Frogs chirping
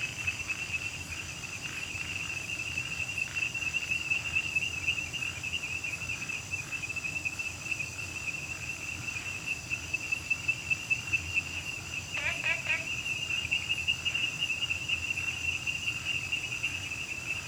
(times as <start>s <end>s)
7.8s 17.4s